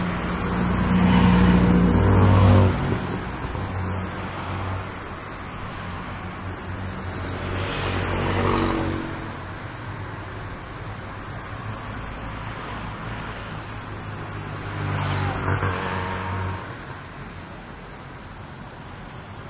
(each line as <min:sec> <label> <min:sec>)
0:00.0 motorcycles 0:10.9
0:00.0 traffic 0:19.4
0:13.4 motorcycles 0:18.2